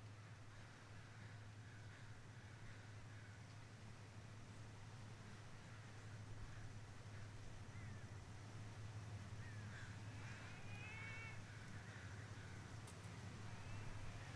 idling car 0.0 - 14.3

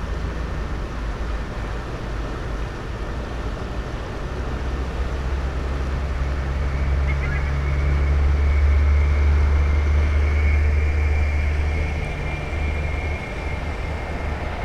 distant traffic 4.7 - 14.6

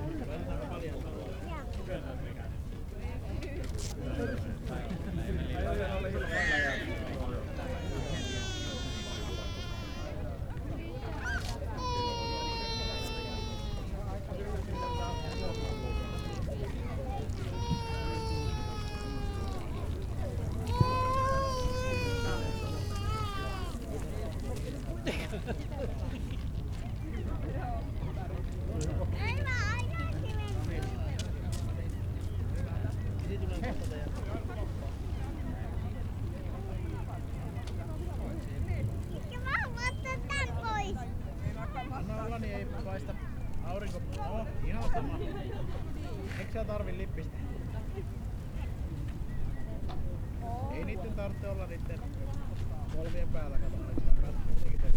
People hanging around a ice cream stand 0.0 - 54.9

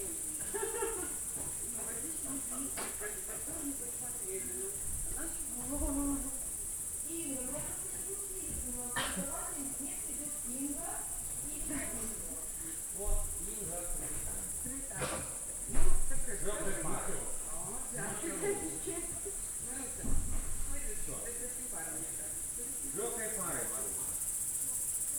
insects singing 0.0 - 25.1
people talking 0.0 - 25.1

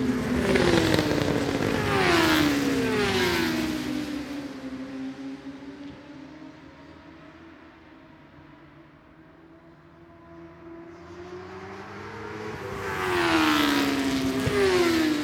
superbikes 0.0 - 3.9
superbikes 11.9 - 15.2

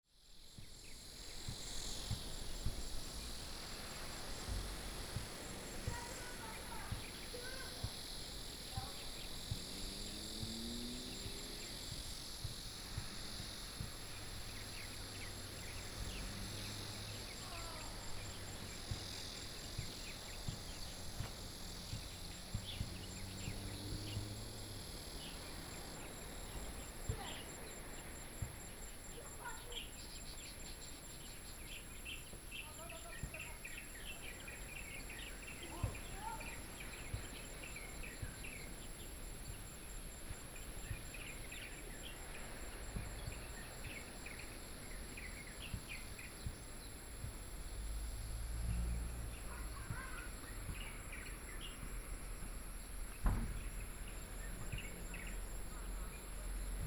Cicadas sound 0.0 - 56.8
Birdsong sound 0.5 - 56.8
waves 1.1 - 9.6
waves 10.4 - 48.1

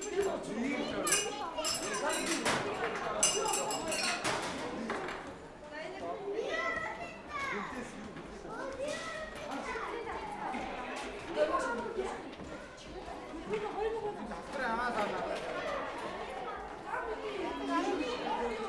little rings had to be thrown on glass bottles 3.2 - 4.3

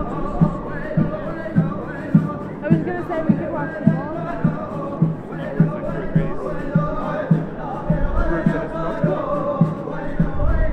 Street musicians 0.0 - 10.7

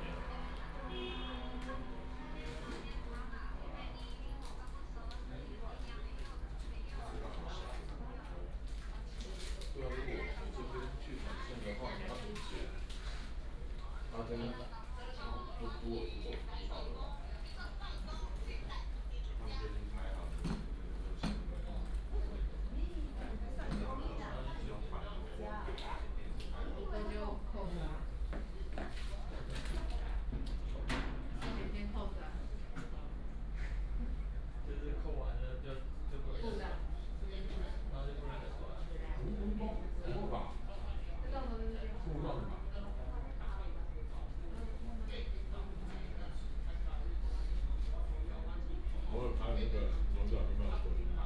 train passes by 0.0 - 3.7

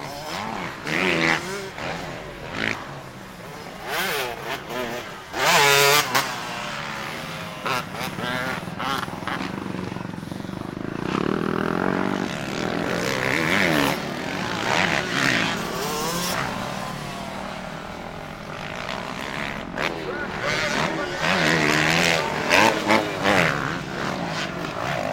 Dirt Bikes 0.0 - 25.1

